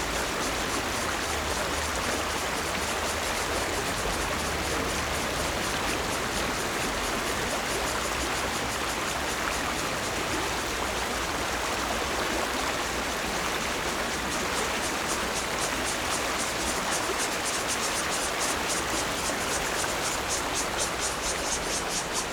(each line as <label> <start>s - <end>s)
Cicada sounds 0.0s - 22.3s
Stream 0.0s - 22.3s